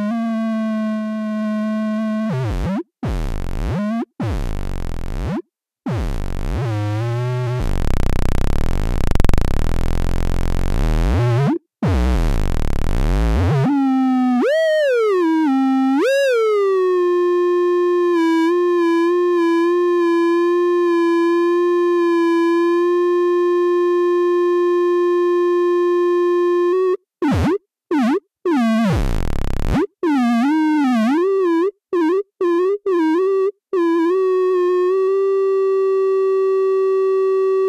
7.6s feedback loop 11.2s
12.1s feedback loop 13.4s

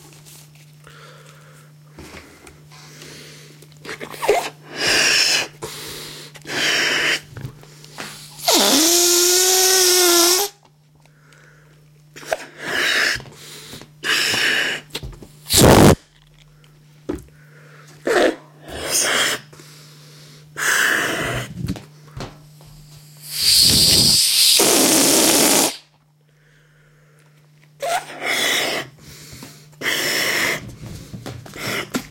4.0s Inflating a balloon 7.3s
8.0s Inflating a balloon 10.6s
12.2s Inflating a balloon 13.3s
14.0s Inflating a balloon 14.9s
15.5s Inflating a balloon 16.0s
18.1s Inflating a balloon 19.5s
23.0s Inflating a balloon 25.9s
23.2s letting the air out several times 25.8s
27.8s Inflating a balloon 29.0s
29.8s Inflating a balloon 30.7s

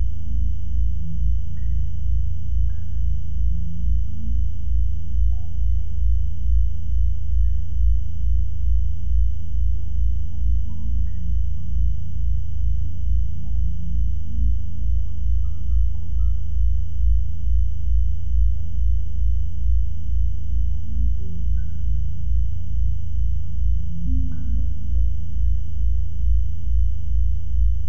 0.0s drone 27.8s

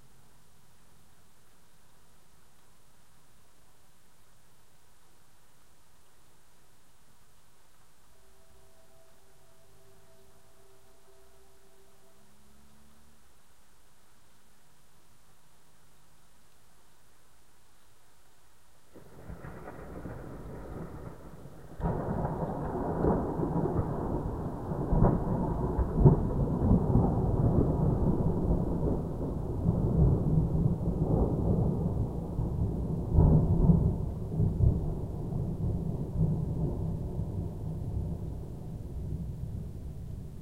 0.0s rain 40.4s
19.0s TREMENDOUSLY huge lightning strikes 38.3s

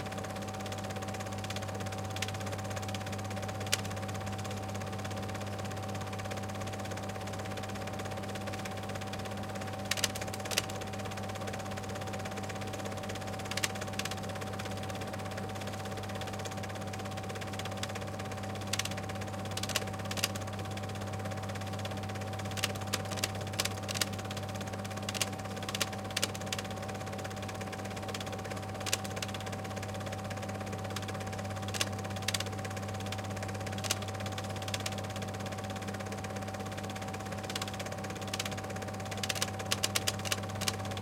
0.0s 8mm Film Projector 41.0s
0.0s projector has a rattling sound 41.0s

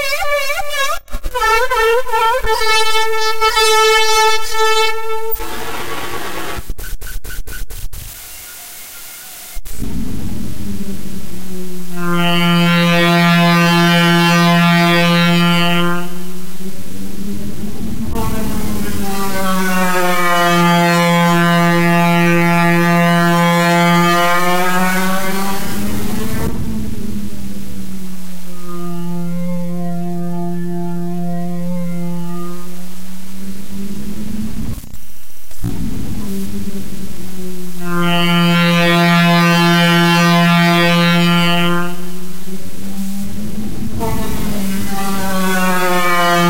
0.0s noise 46.4s

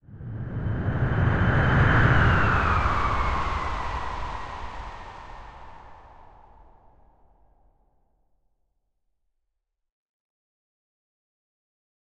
0.0s Aeroplane approaching/passing by 6.8s

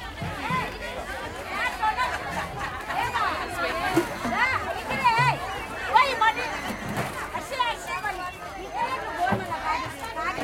0.0s ice coolers 10.4s
0.0s voices 10.4s

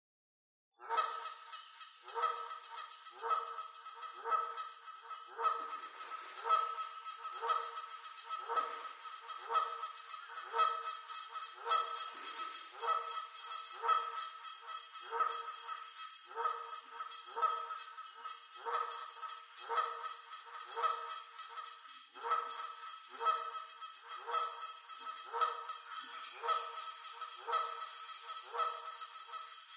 0.8s goose 29.7s

